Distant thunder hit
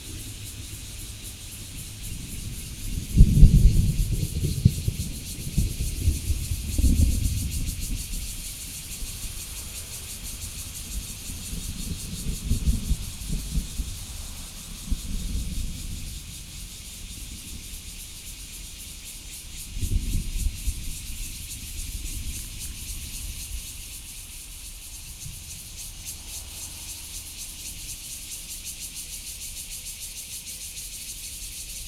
1.7s 8.2s

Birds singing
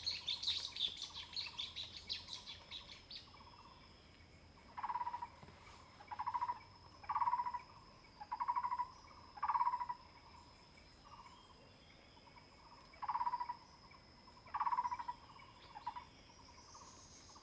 0.0s 5.0s

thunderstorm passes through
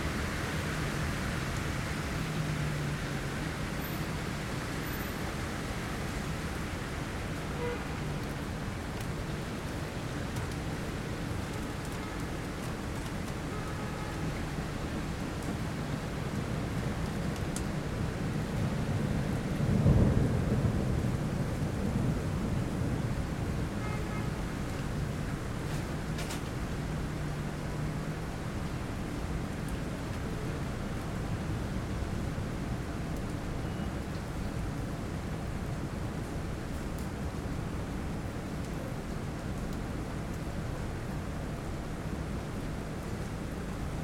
18.1s 23.8s

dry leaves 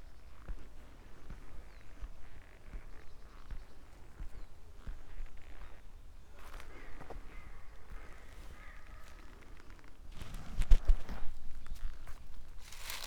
12.6s 13.0s

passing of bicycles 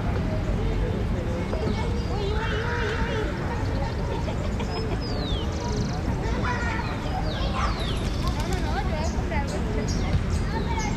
5.3s 10.9s

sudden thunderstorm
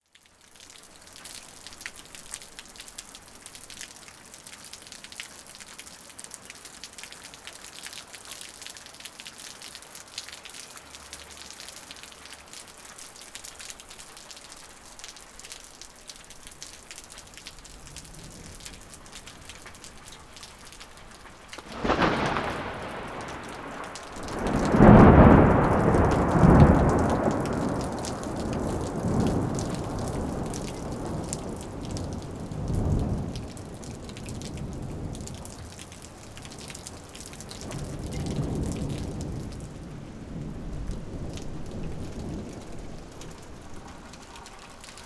21.6s 35.8s, 37.4s 43.4s

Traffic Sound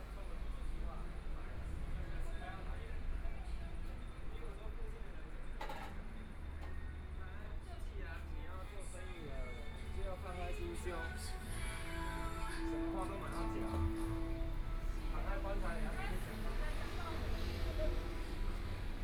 9.4s 19.0s

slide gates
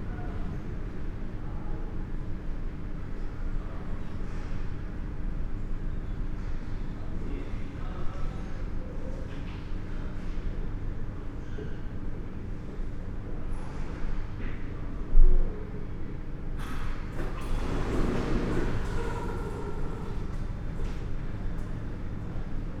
16.7s 21.8s

